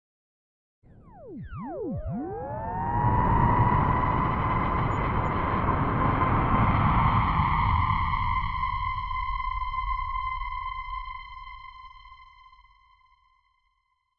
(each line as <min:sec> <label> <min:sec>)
0:01.1 start ringtone effect 0:03.4